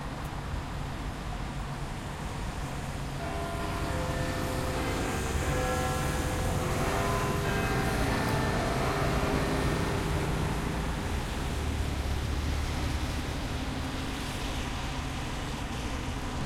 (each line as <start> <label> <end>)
2.7 Big Ben 16.4